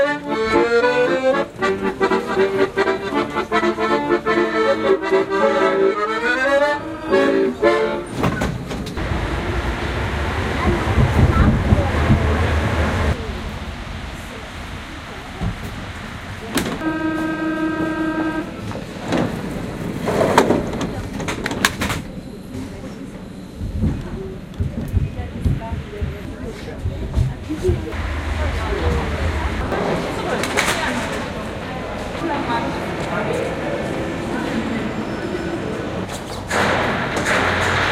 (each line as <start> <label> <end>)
0.0 Commuter Train 37.9
7.1 doors closing 13.2